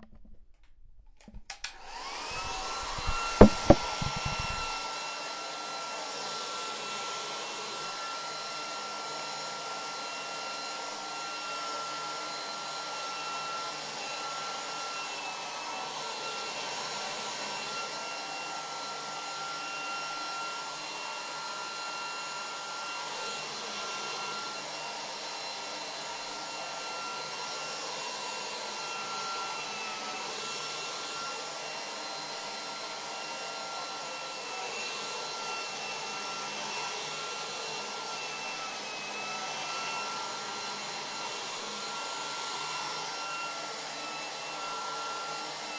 hairdryer 0:00.0 - 0:45.7

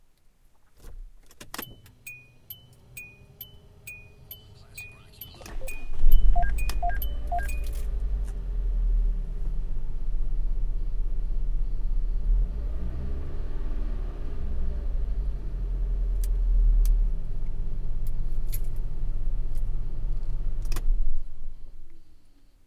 Car engine starting 0:00.8 - 0:21.9

